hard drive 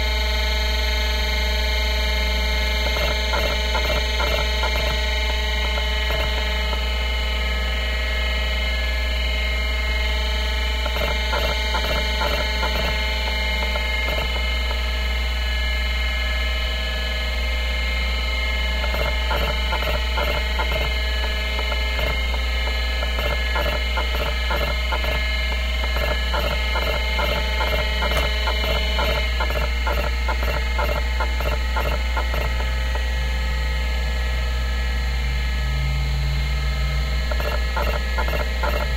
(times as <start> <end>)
2.4 7.9, 10.5 15.6, 18.4 33.4, 36.8 38.9